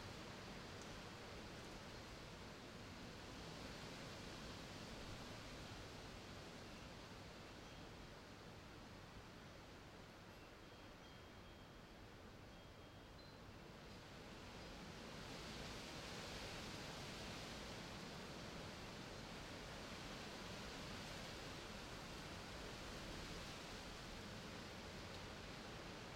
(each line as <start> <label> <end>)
0.0 wind 26.1
7.5 wind chimes 8.1
10.3 wind chimes 13.7